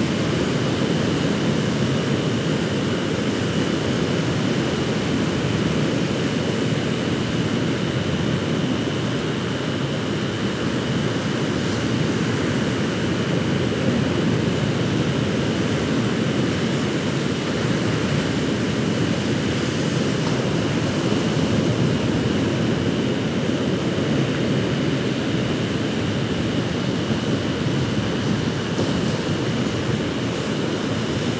0.0s Rosedale Beach Waves 31.3s

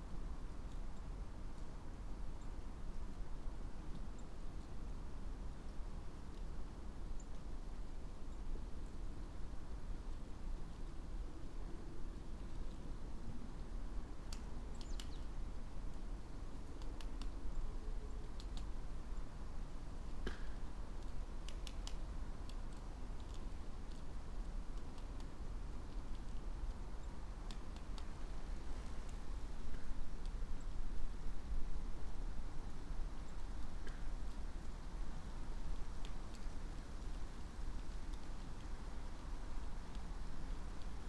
0.0s gentle wind 41.0s
0.0s traffic noise beyond the hill 41.0s
14.4s birds 15.4s

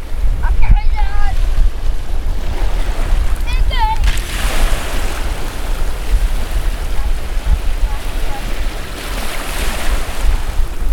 1.2s waves landing on the shore 10.9s
3.2s Children from Dorset Beach School recording and talking 4.3s

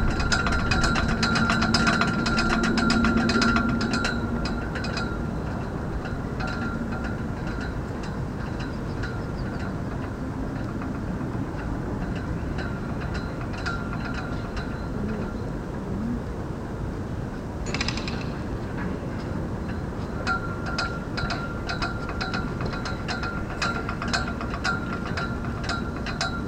0.0s wind 26.4s

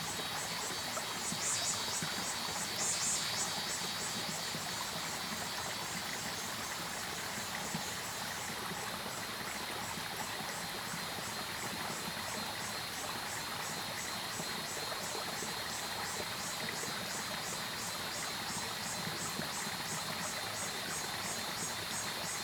0.0s Cicadas called 8.4s
0.0s Stream sound 22.4s

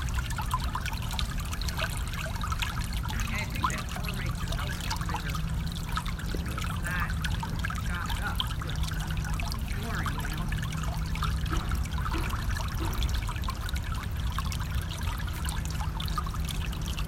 0.0s A Gurgling Eddy 17.0s
0.0s slight westerly breeze 17.0s
10.2s faint sounds of hammering in the distance 14.0s

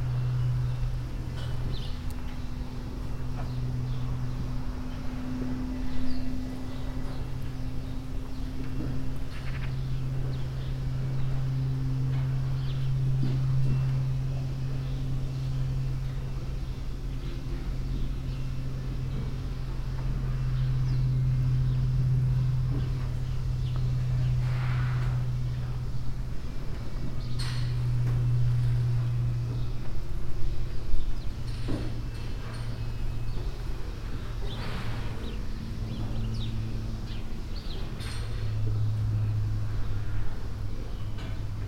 0.0s cows mooing and moving inside the shed 41.6s
0.0s small airplane crossing the sky 41.6s
0.0s birds 41.6s

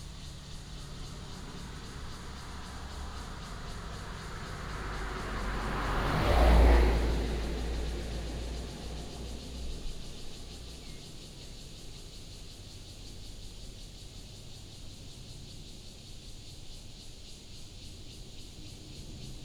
0.0s Traffic sound 11.8s
0.0s Cicadas 19.4s

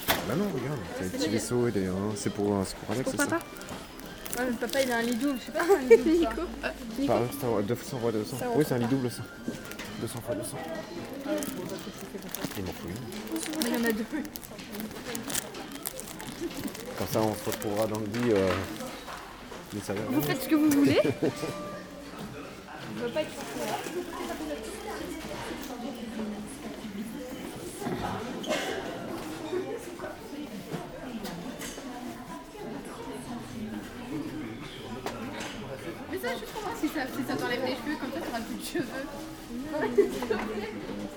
0.0s clients in the supermarket 21.6s
22.2s clients in the supermarket 32.5s

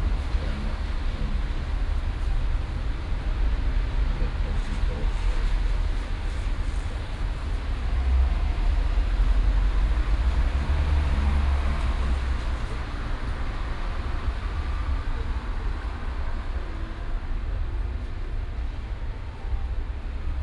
0.0s cars on the wet street 20.4s

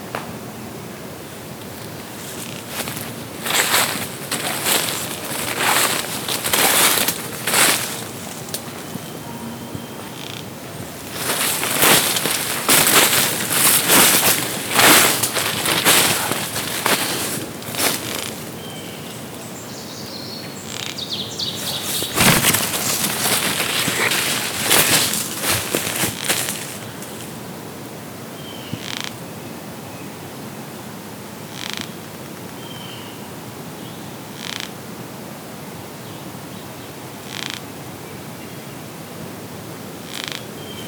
20.7s Sawyer beetle larva chewing on a dead pine tree 27.0s

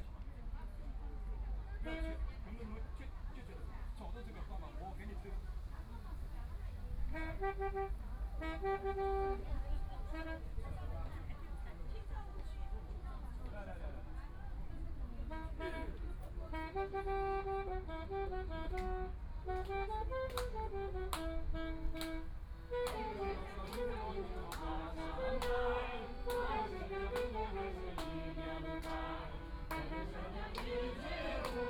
22.0s elderly people are practicing singing chorus 31.6s

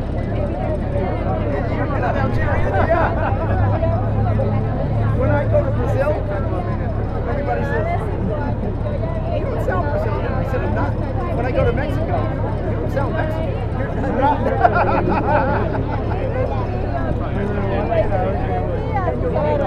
0.0s chatter 19.6s

